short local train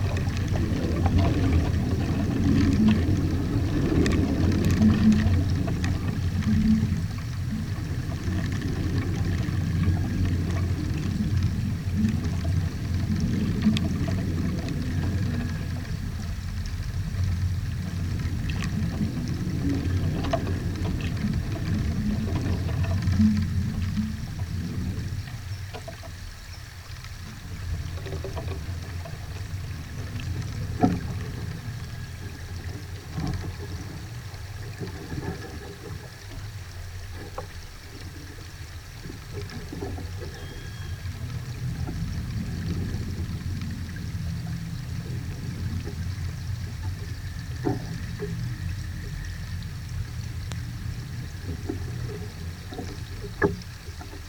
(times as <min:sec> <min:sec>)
0:40.3 0:41.7